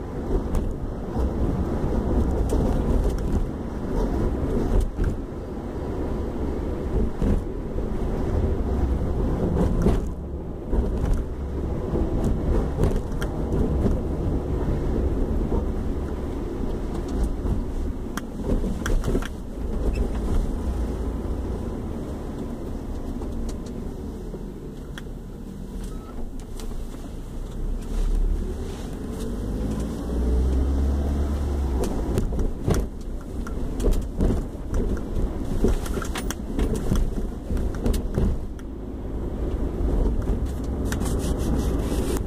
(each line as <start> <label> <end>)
0.0 Car Drive 42.2